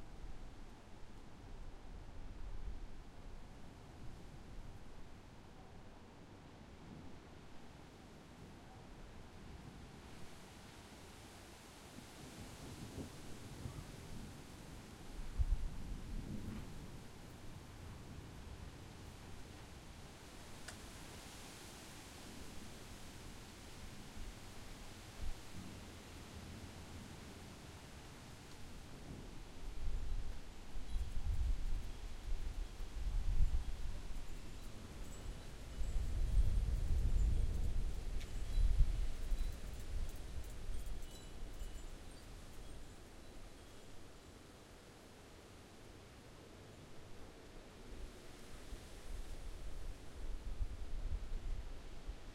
0.0s Wind in trees 52.3s
33.3s wind chimes 44.3s

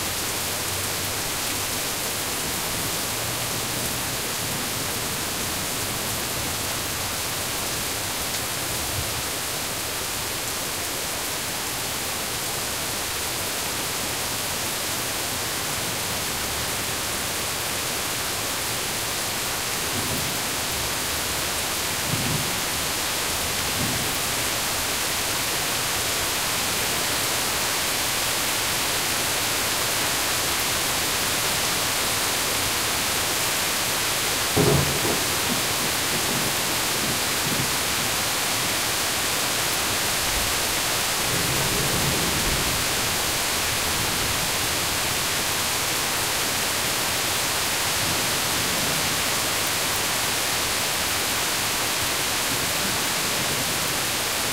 0.0s loud rain 54.5s
34.5s rolling thunder 37.8s

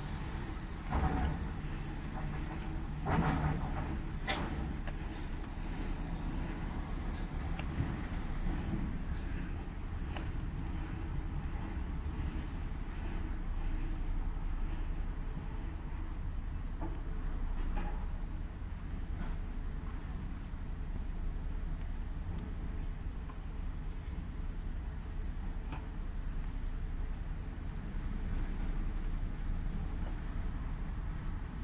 0.0s Passing by cars and trucks 31.6s
22.5s rattle 24.6s

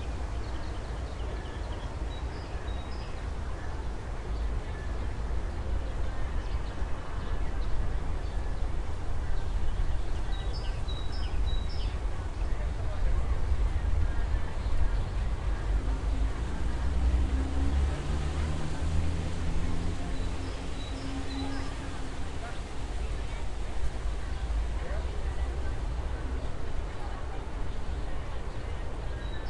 0.0s Noise of leaves 29.4s

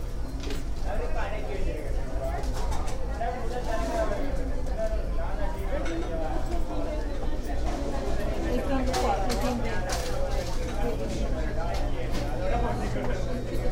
0.8s conversation 13.7s

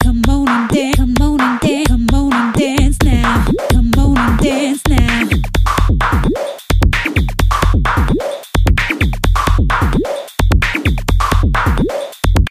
0.0s breakbeat 12.5s

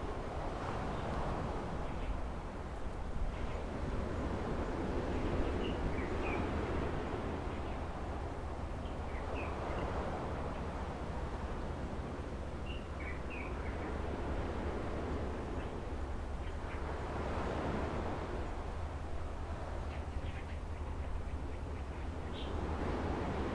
0.0s sea 23.5s
12.5s birds low 18.7s

